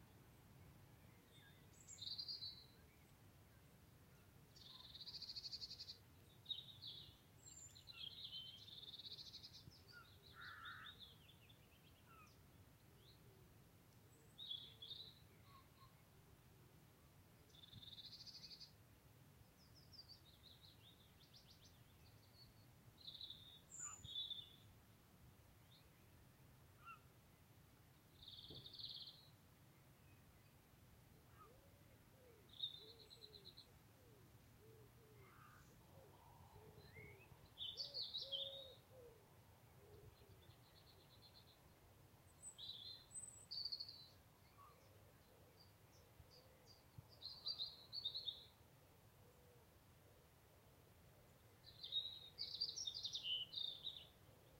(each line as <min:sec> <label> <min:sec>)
0:00.0 sorrowful song of a robin 0:54.5
0:04.6 willow warbler 0:13.2
0:51.6 willow warbler 0:54.5